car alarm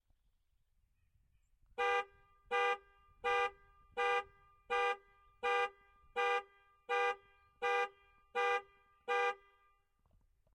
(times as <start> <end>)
1.9 9.5